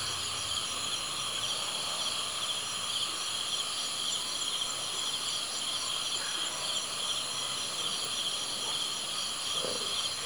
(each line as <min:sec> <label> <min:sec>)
0:00.0 #Cricket 0:10.2